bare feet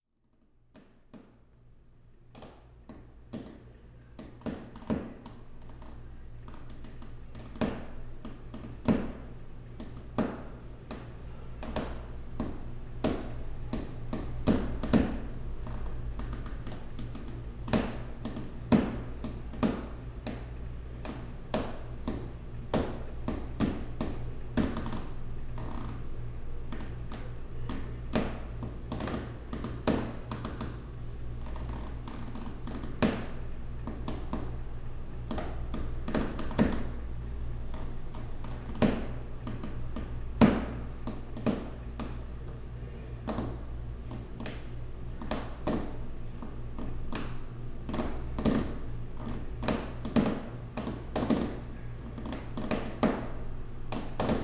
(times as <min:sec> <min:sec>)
0:11.6 0:20.4, 0:21.0 0:26.0, 0:31.4 0:34.5, 0:35.3 0:37.0, 0:37.7 0:42.2, 0:43.2 0:54.4